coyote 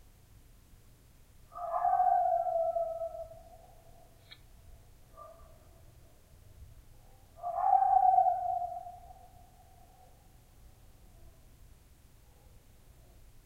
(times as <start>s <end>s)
1.5s 6.2s, 7.0s 11.5s